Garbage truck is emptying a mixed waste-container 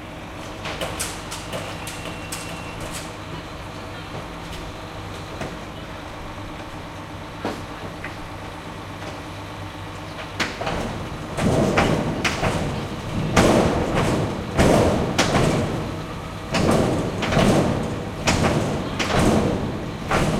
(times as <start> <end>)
10.2 20.3